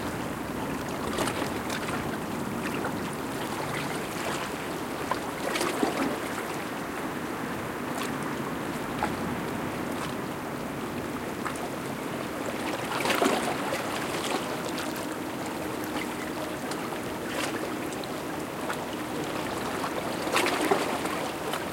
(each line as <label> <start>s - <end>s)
waves 0.0s - 21.7s
windy night 0.0s - 21.7s